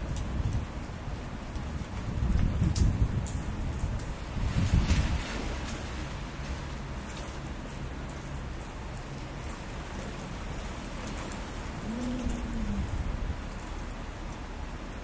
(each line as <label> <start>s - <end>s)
raindrops 0.0s - 15.0s
wind 0.0s - 15.0s